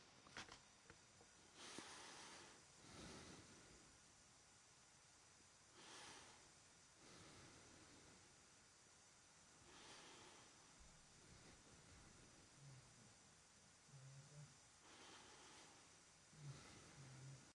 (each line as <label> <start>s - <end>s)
Normal soft breathing 1.4s - 4.1s
Normal soft breathing 5.7s - 8.6s
Normal soft breathing 9.5s - 13.2s
Normal soft breathing 13.8s - 17.5s